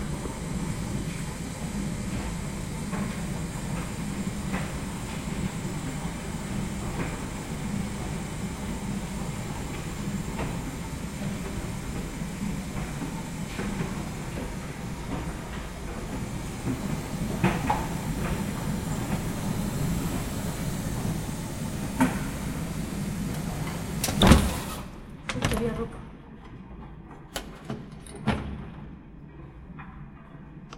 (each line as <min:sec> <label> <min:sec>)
0:00.0 washing machines sound 0:30.7